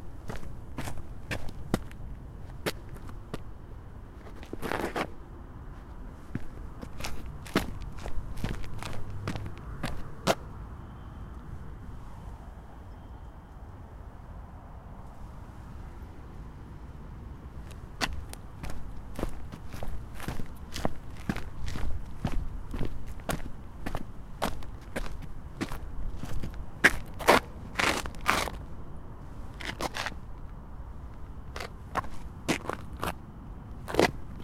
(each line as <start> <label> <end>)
0.0 Walking on pavement with sport shoes 10.6
17.4 Walking on pavement with sport shoes 28.7
29.3 Walking on pavement with sport shoes 34.4